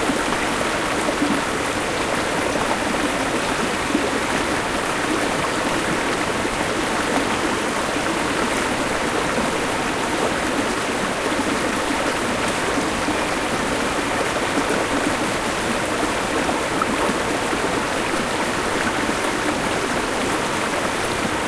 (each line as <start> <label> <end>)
0.0 River 21.4